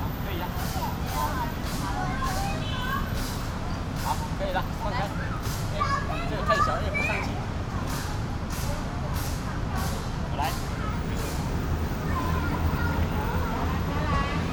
Parents waiting for children 0.0 - 14.5

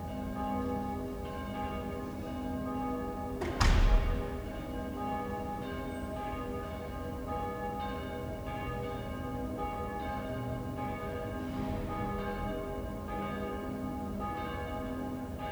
bells 0.0 - 15.5

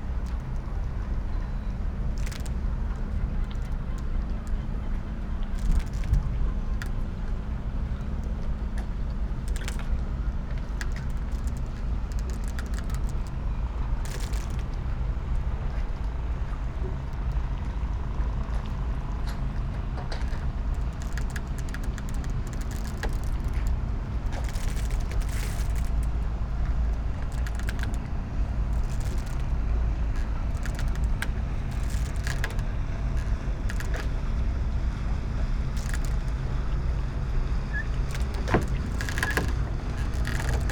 soft waves 0.0 - 40.7
squeaking sailing boat 0.0 - 40.7
ropes 5.4 - 7.0
ropes 8.8 - 14.9
ropes 18.5 - 34.2
ropes 35.7 - 36.8
ropes 37.9 - 40.7

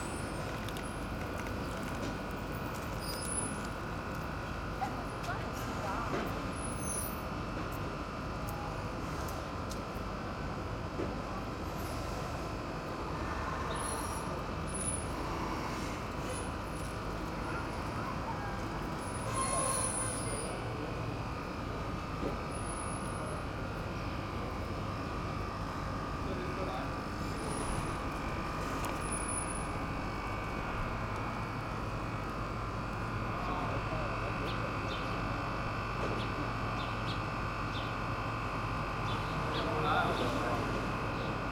fridge generator 0.0 - 41.5
wind 0.0 - 41.5
boat squeaking and creaking at the quai wall 19.1 - 20.4

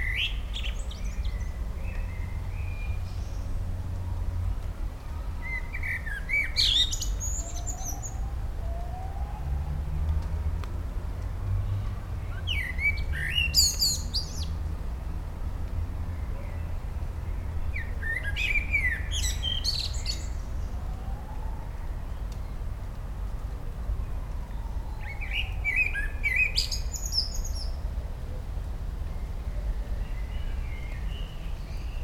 Blackbird 0.0 - 3.5
bassy, low frequencies of nearby and dense traffic 0.0 - 32.0
rain 0.0 - 32.0
Blackbird 5.4 - 8.2
sirens drifting in over the walls 7.4 - 10.0
Blackbird 12.3 - 14.6
sirens drifting in over the walls 20.8 - 22.1

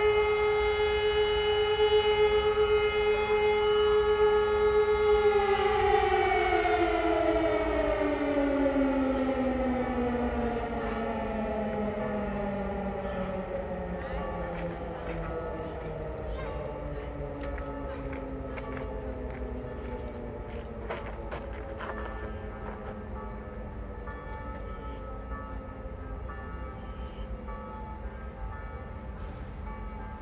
warning sirens 0.0 - 26.0
12 o'clock bells ring 11.8 - 30.2
shuffling of his feet on gravel 17.5 - 23.0

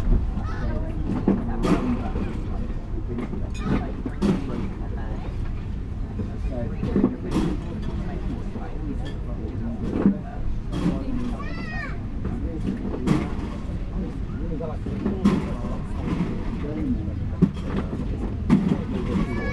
distant traffic 0.0 - 19.5
voices 0.0 - 19.5

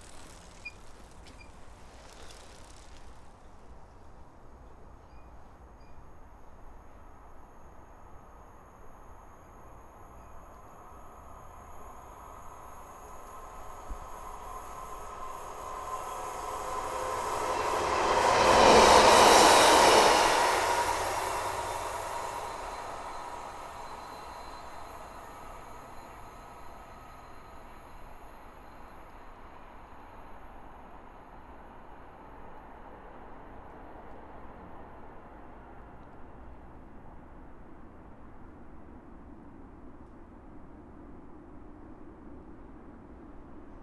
bikes coming fast downhill 0.0 - 4.6
trains pass in each direction 0.0 - 43.8

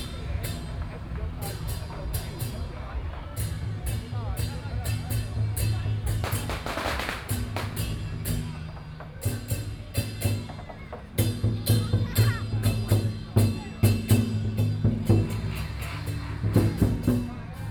firecrackers 0.0 - 10.2
Traffic Sound 0.0 - 11.7
Traffic Sound 12.3 - 17.7

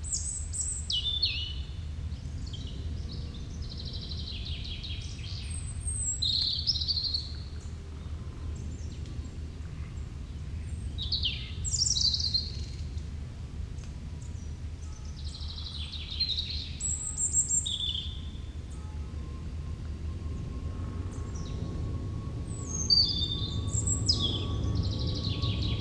airplane flying over 0.0 - 25.8
Robin singing 0.0 - 1.8
Robin singing 2.4 - 7.7
Robin singing 10.6 - 12.9
Robin singing 14.3 - 19.2
distant churchbell 16.7 - 25.8
Robin singing 22.5 - 25.8

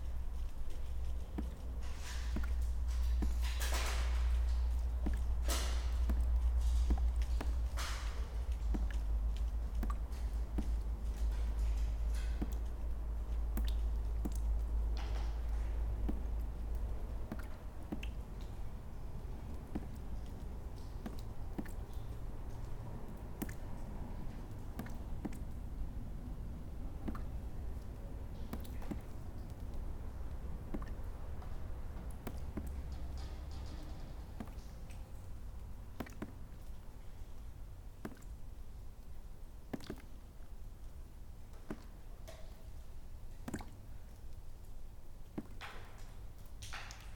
water drips through cracked ceilings 0.0 - 47.1
Walking on broken glass 0.2 - 16.4

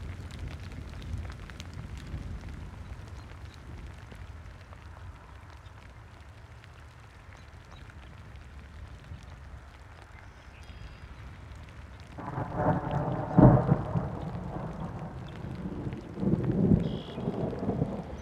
rain 0.0 - 18.2
thunderclap 12.2 - 18.2

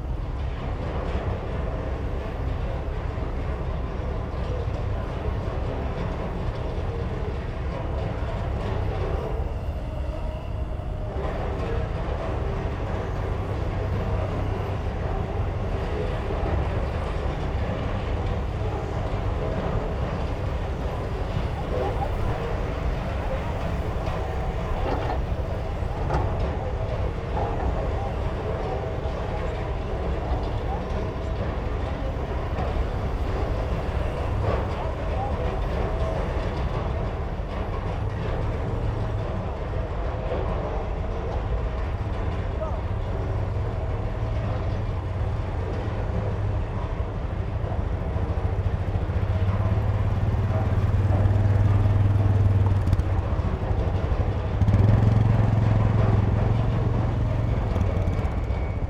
bulldozers 0.0 - 58.8
excavators 0.0 - 58.8
trucks 0.0 - 58.8

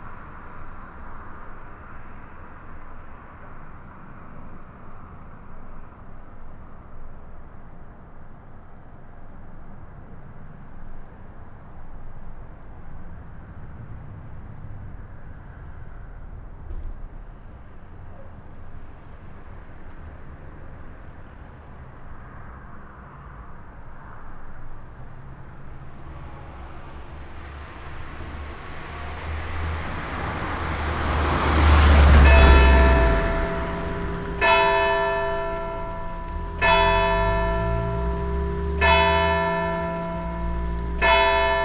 the bells 29.4 - 41.6

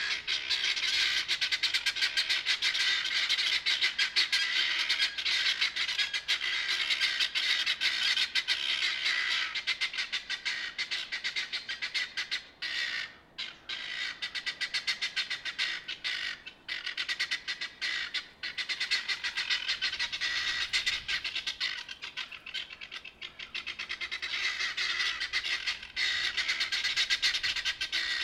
Guinea Fowl roosting for the night 0.0 - 28.2

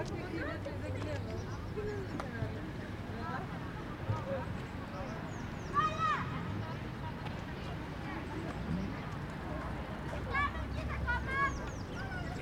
Children are playing 3.4 - 12.4

